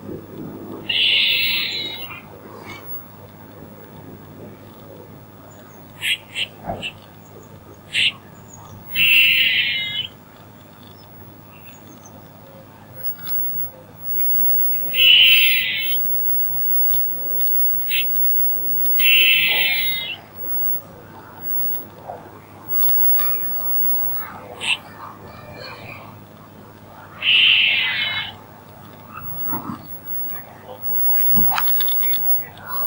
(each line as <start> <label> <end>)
0.0 traffic 32.8
0.8 Squirrel Call 3.2
5.5 Squirrel Call 10.2
13.0 Squirrel Call 22.0
22.7 Squirrel Call 26.2
27.2 Squirrel Call 28.4
29.0 Squirrel Call 32.8